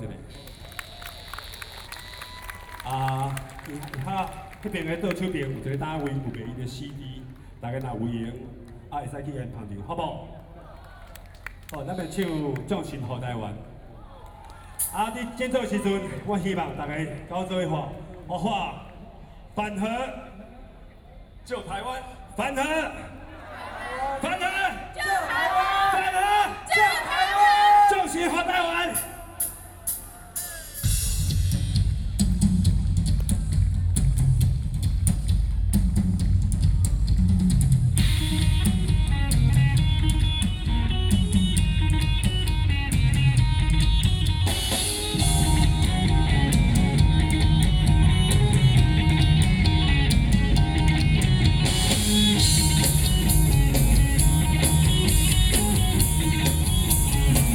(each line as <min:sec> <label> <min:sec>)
0:29.4 rock band 0:57.5